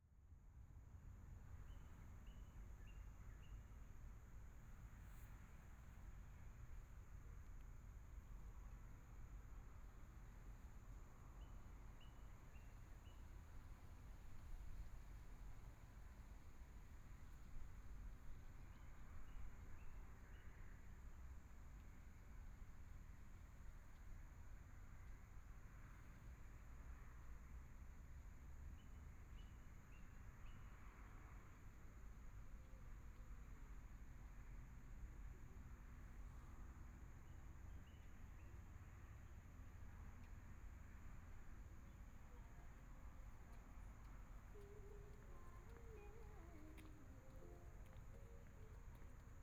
Traffic Sound 0:39.5 - 0:49.4

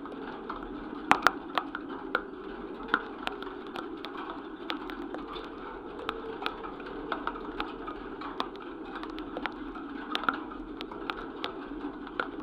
Wind in a fence 0:00.0 - 0:12.4

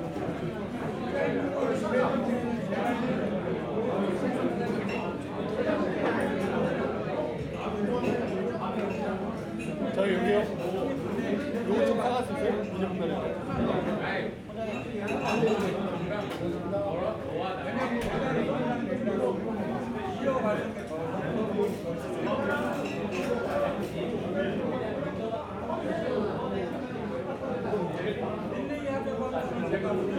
people eating & drinking 0:00.0 - 0:30.1

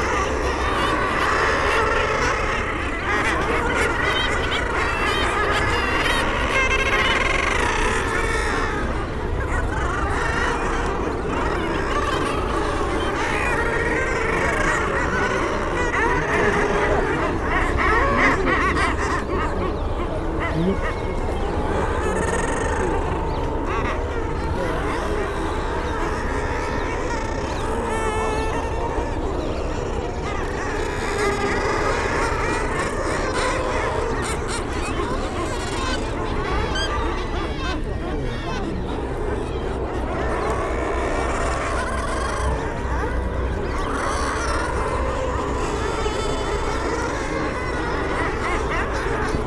background noise from people 0:00.0 - 0:49.4
bird calls from kittiwakes 0:00.0 - 0:49.4
boats 0:00.0 - 0:49.4
nesting guillemots 0:00.0 - 0:49.4
oystercatchers 0:00.0 - 0:49.4
planes 0:00.0 - 0:49.4

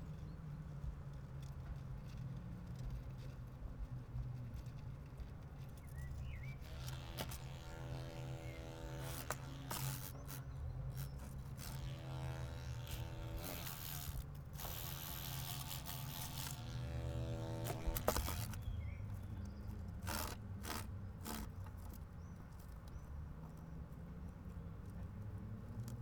humble-bee trying to get out of a plastic bucket 0:05.4 - 0:21.9

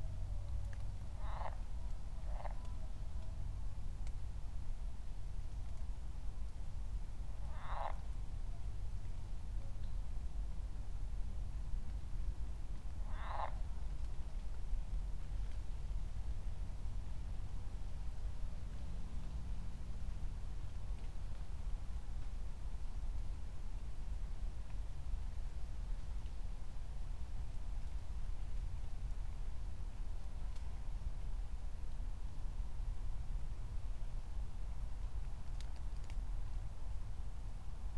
frogs 0:01.1 - 0:02.7
frogs 0:07.4 - 0:08.2
frogs 0:13.0 - 0:13.9

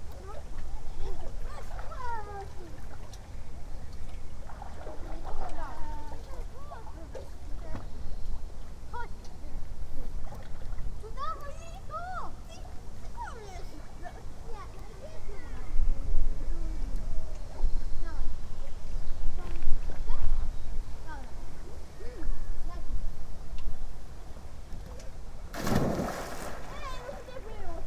kids playing in the lake 0:00.0 - 0:27.8
he jumps into the water 0:25.5 - 0:27.8

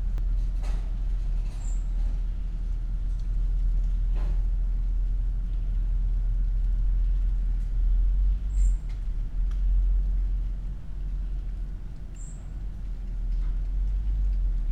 wind 0:00.0 - 0:14.7

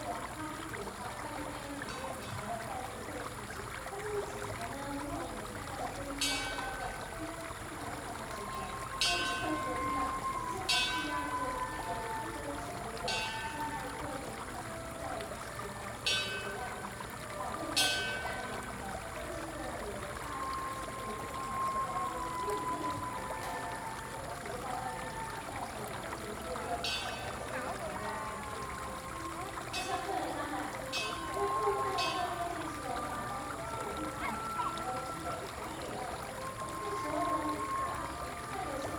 water streams 0:00.0 - 0:38.9

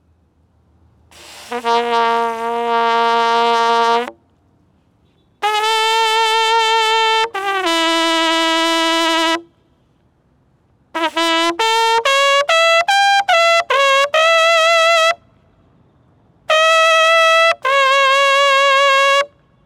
Bugle playing 0:01.1 - 0:04.2
Bugle playing 0:05.4 - 0:09.5
Bugle playing 0:11.0 - 0:15.2
Bugle playing 0:16.5 - 0:19.6

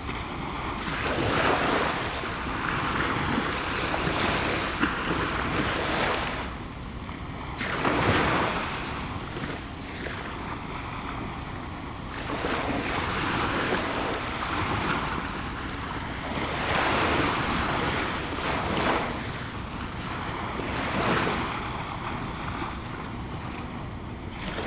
small waves 0:00.0 - 0:24.6

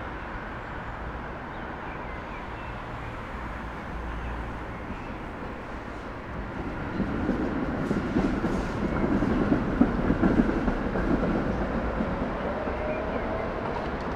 trains and trams passing 0:00.0 - 0:14.1
heavy traffic 0:00.0 - 0:14.1
birds can be heard from bushes around 0:01.5 - 0:09.6
people getting off trams 0:02.6 - 0:14.1

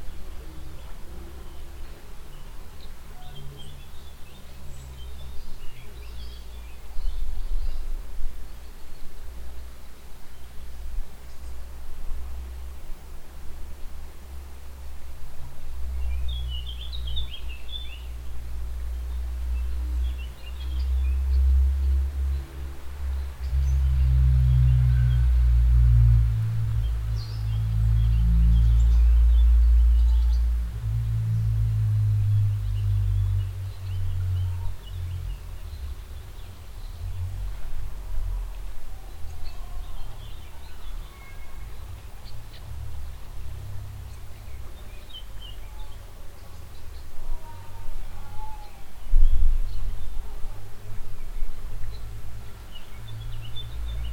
mellow water flow reflecting under the bridge architecture 0:00.0 - 0:54.1

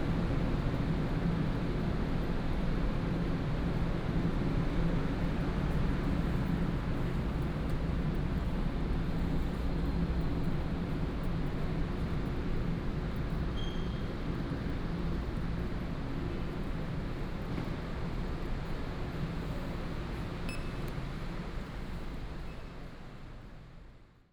Trains 0:13.9 - 0:23.9

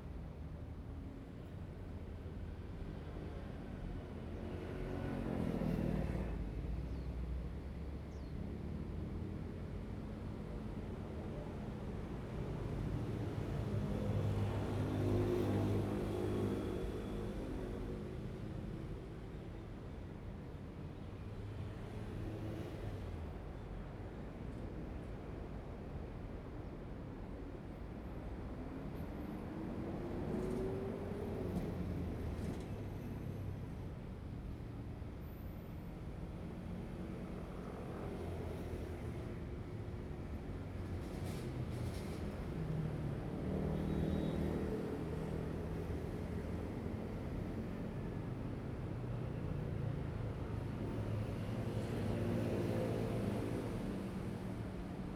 traffic sound 0:09.2 - 0:55.1

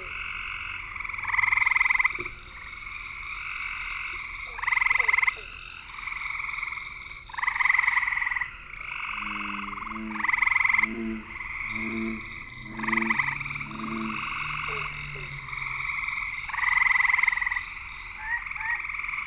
bear swamp frogs 0:00.0 - 0:19.2

